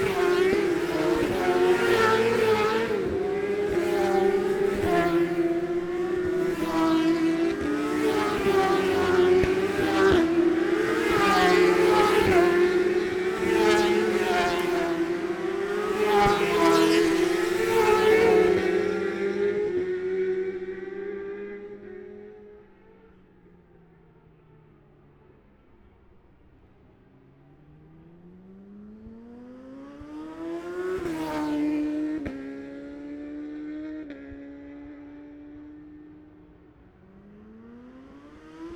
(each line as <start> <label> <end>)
0.0 road racing 38.7